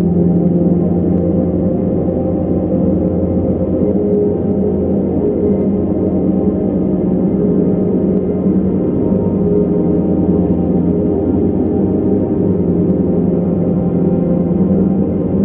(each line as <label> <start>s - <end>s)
slowly evolving dreamy ambient drone pad 0.0s - 15.4s